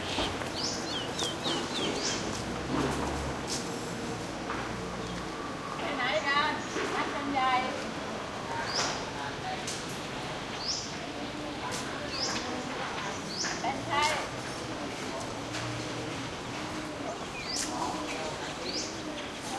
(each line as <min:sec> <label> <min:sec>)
0:00.0 birds 0:03.1
0:00.0 voices 0:19.5
0:08.5 birds 0:09.2
0:10.5 birds 0:14.9
0:15.8 birds 0:19.5